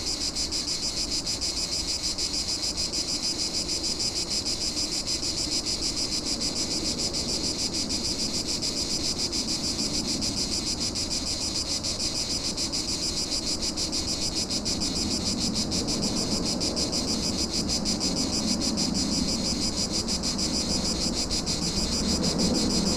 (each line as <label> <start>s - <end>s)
Cicadas 0.0s - 22.9s
ocasional planes passing by 14.5s - 22.9s